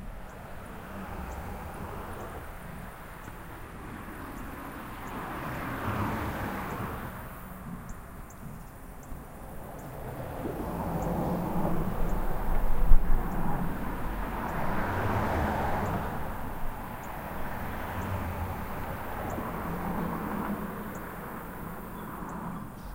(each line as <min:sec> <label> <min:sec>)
0:00.0 cars 0:22.9
0:00.0 crickets 0:22.9
0:00.0 very little wind 0:22.9